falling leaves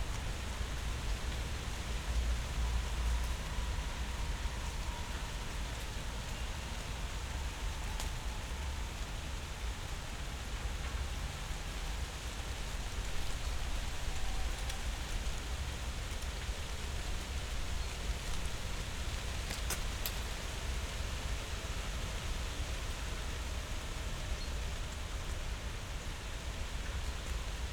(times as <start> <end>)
9.4 22.8